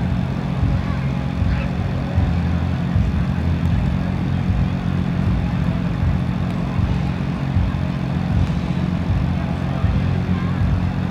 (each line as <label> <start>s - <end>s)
generator 0.0s - 11.1s
street party 0.0s - 11.1s